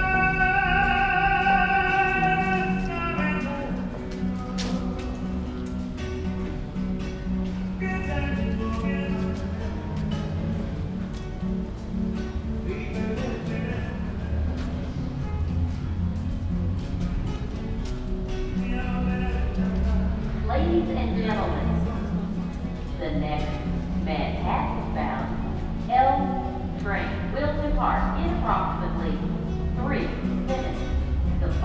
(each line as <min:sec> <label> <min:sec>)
0:00.0 L-train station singer 0:05.8
0:07.6 L-train station singer 0:11.3
0:12.2 L-train station singer 0:15.2
0:18.4 L-train station singer 0:29.4